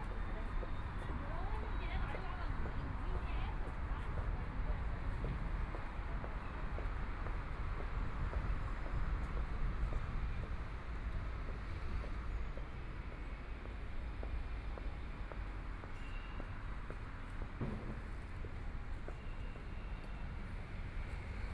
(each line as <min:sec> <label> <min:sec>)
0:00.0 Traffic Sound 0:21.5